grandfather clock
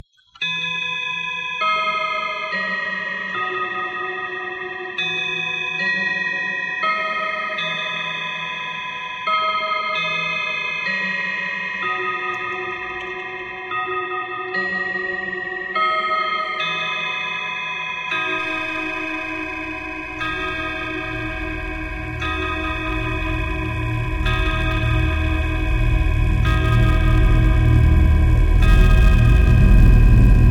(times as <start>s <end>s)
18.3s 30.5s